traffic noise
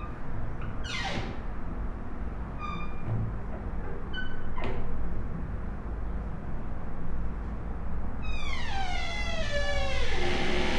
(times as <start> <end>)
0.0 8.4